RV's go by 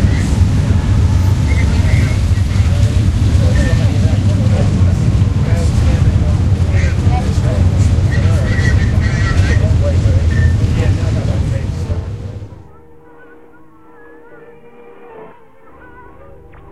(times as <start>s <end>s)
0.0s 12.8s